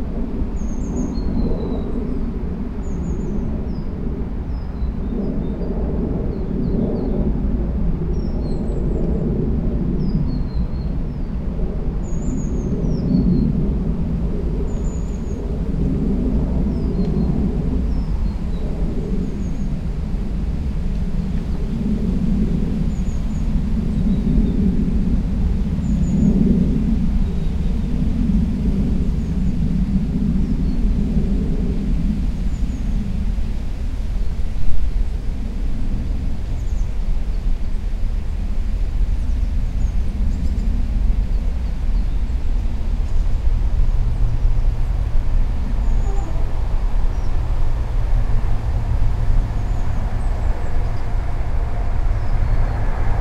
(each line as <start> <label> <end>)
0.0 aircraft 53.2
0.0 rumble of traffic crossing the nearby toll bridge 53.2
0.0 wind in the surrounding trees 53.2
39.1 Birdsong 52.9
41.7 trains passing along the mainline 53.2